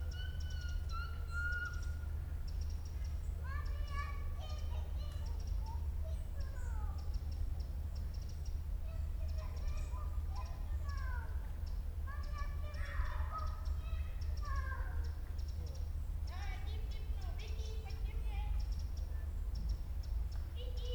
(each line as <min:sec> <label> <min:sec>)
0:00.0 birds 0:20.9